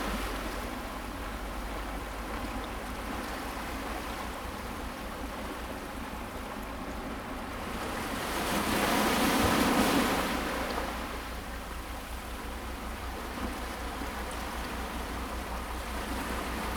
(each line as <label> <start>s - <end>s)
the waves 0.0s - 16.7s